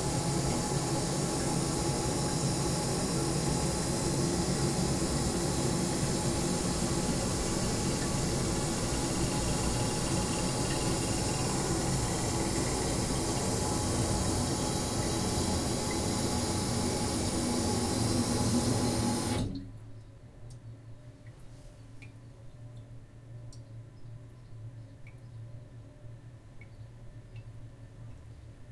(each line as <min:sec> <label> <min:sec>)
0:00.0 Toilet Flush 0:19.7